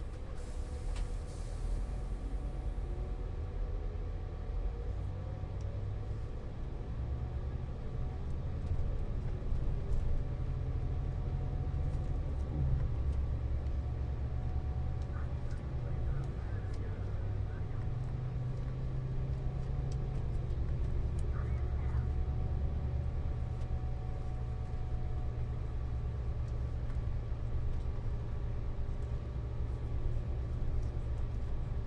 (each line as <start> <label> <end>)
0.0 bus stops and stars 31.8